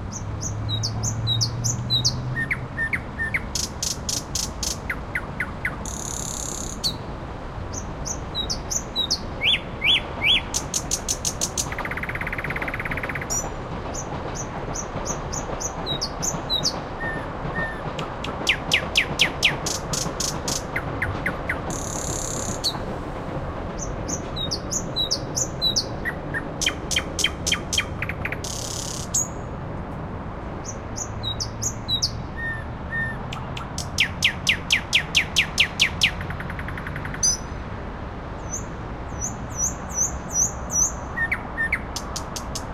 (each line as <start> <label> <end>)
0.0 Skytrain 42.7
0.0 road 42.7
0.1 Night Bird 7.0
7.7 Night Bird 13.5
14.4 Night Bird 22.8
30.6 Night Bird 37.5